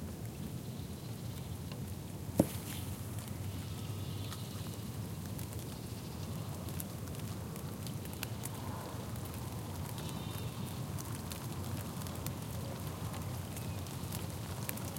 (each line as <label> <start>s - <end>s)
nature 0.0s - 14.9s
rain 0.0s - 14.9s
rain falling on my ZOOM 0.0s - 14.9s